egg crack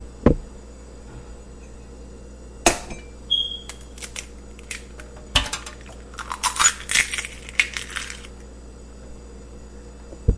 3.6 8.4

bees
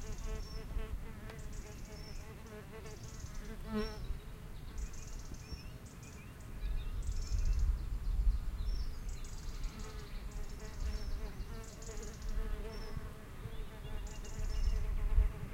0.0 4.4

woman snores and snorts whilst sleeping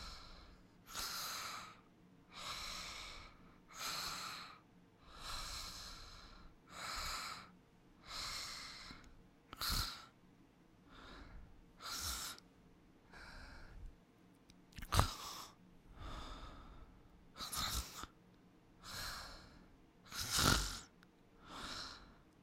0.0 7.5, 8.1 10.1, 11.8 12.4, 14.8 15.6, 17.4 18.2, 18.8 22.1

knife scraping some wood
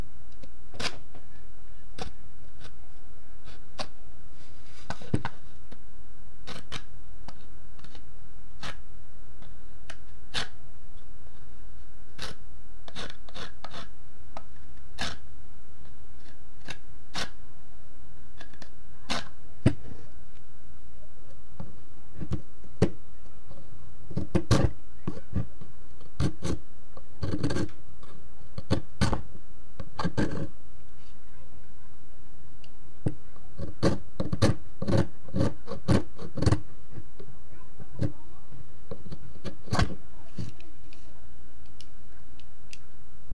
0.8 1.0, 6.4 8.0, 8.6 8.8, 10.3 10.6, 12.2 14.0, 15.0 15.2, 16.2 17.4, 24.1 25.5, 26.1 26.6, 27.2 29.2, 29.9 30.5, 33.6 36.6

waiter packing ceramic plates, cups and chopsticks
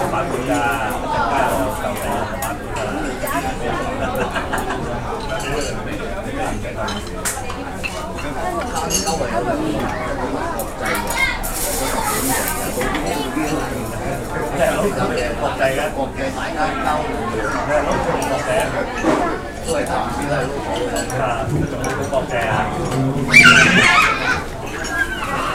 5.2 5.9, 6.7 10.0, 11.4 15.3

